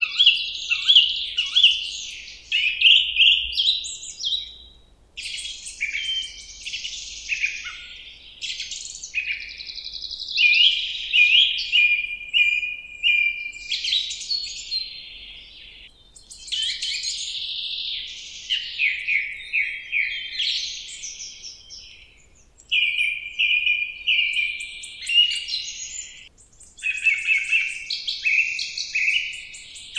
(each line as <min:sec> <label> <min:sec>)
0:00.0 birds singing 0:29.9